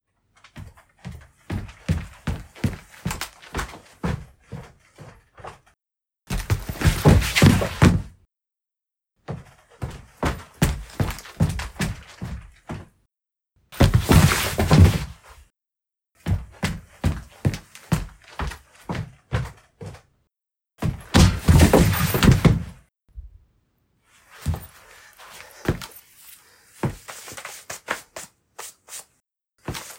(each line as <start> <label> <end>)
21.1 falling heavily onto a wooden surface 22.7